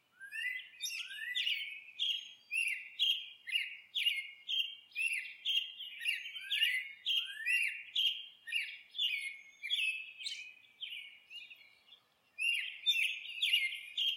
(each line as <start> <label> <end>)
0.0 Cardinals 14.1
0.0 Mockingbirds 14.1